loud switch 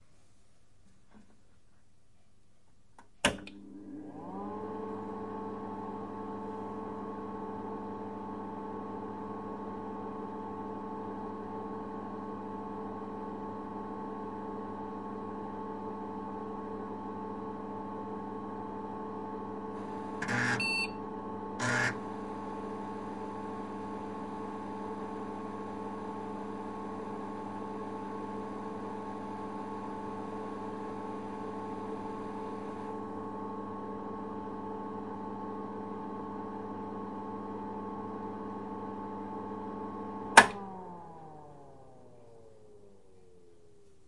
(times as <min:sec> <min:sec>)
0:03.2 0:03.6, 0:40.4 0:40.8